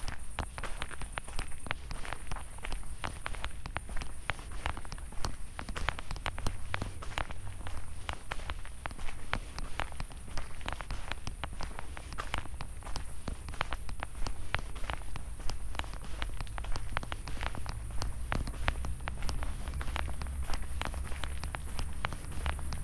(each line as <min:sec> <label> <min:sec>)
0:00.0 walking 0:22.8